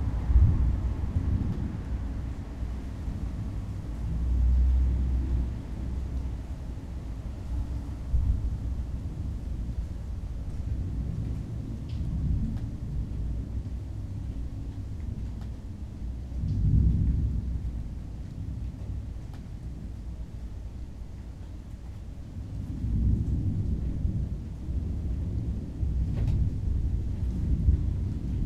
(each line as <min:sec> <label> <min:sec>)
0:00.0 thunderstorm coming up 0:06.1
0:00.0 mild wind 0:28.4
0:16.0 thunderstorm coming up 0:20.0
0:22.5 thunderstorm coming up 0:28.4